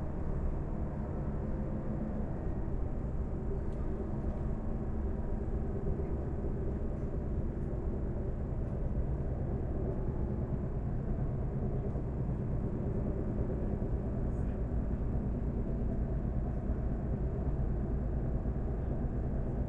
small diesel driven multiple-unit train train 0.0 - 19.6

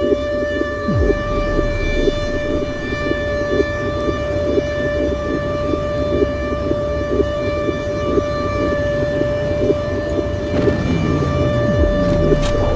tanks 0.8 - 12.7
bombs 0.9 - 4.5
bombs 10.5 - 12.7

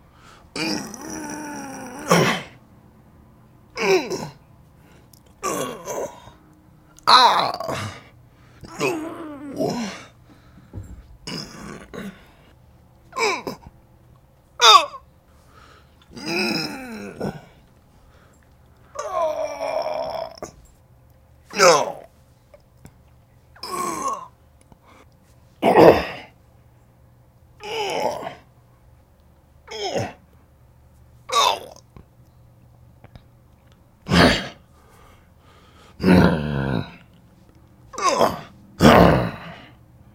fight moans and grunts 0.5 - 2.6
fight moans and grunts 3.8 - 4.4
fight moans and grunts 5.4 - 6.4
fight moans and grunts 7.0 - 10.1
fight moans and grunts 11.2 - 12.3
fight moans and grunts 13.2 - 13.7
fight moans and grunts 16.1 - 17.6
fight moans and grunts 18.9 - 20.6
fight moans and grunts 21.5 - 22.1
fight moans and grunts 23.6 - 24.3
fight moans and grunts 25.6 - 26.3
fight moans and grunts 27.6 - 28.4
fight moans and grunts 29.7 - 30.2
fight moans and grunts 34.1 - 34.6
fight moans and grunts 36.0 - 37.1
fight moans and grunts 37.9 - 39.8

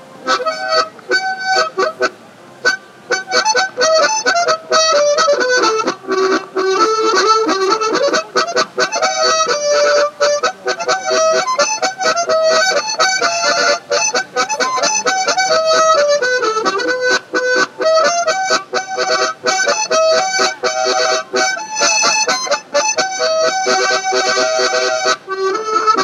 harmonica playing 0.0 - 26.0

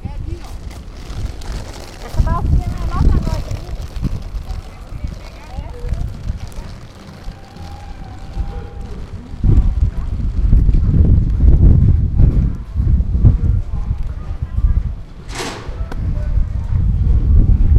Ferry 0.0 - 17.7
Workers 4.3 - 10.2
Workers 14.2 - 16.5

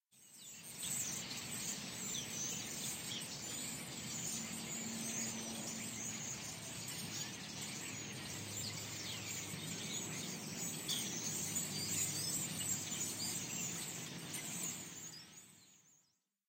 starlings 0.2 - 16.2

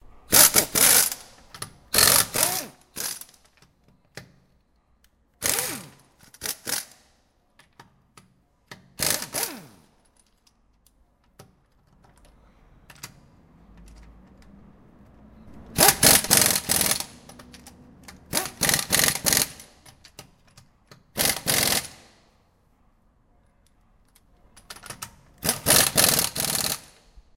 machine 0.0 - 3.4
car 11.8 - 20.6
machine 14.4 - 20.0
machine 21.2 - 22.2
machine 24.7 - 27.0

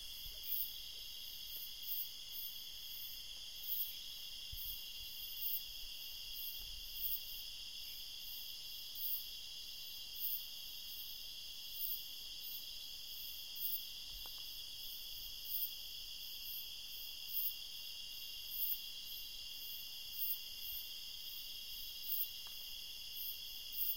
insects 0.0 - 23.9

